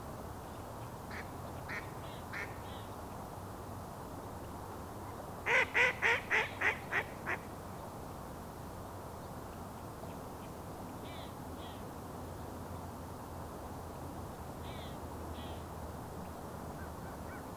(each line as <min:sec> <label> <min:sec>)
0:00.0 Colvert sur la rivière des Mille-îles 0:17.5